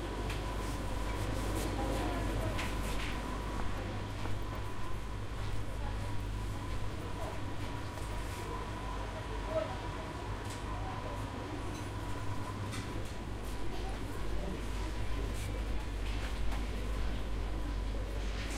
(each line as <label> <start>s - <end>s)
hum of refrigerators 0.0s - 18.5s